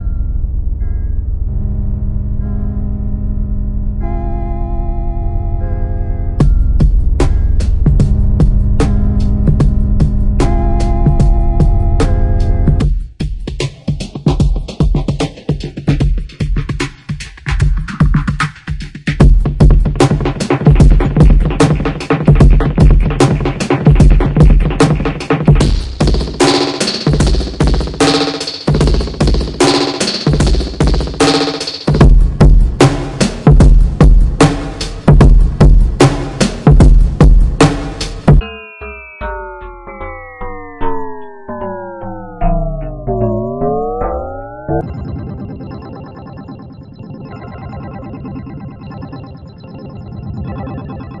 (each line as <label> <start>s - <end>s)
downtempo beat 6.4s - 49.8s